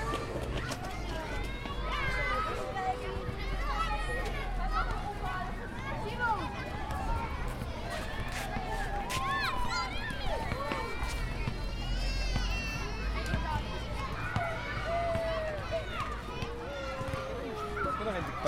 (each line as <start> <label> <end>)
0.0 parents and their playing children 18.4